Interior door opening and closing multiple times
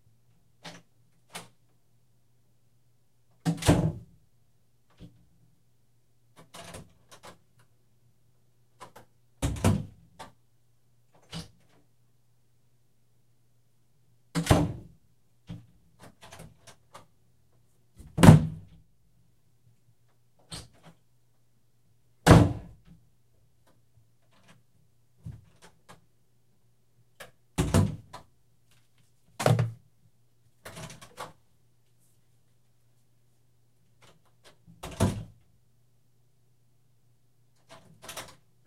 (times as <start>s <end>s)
3.3s 4.1s, 6.4s 7.6s, 8.7s 10.4s, 11.1s 11.9s, 14.3s 17.1s, 27.2s 28.3s, 30.6s 31.4s, 34.0s 35.4s, 37.6s 38.5s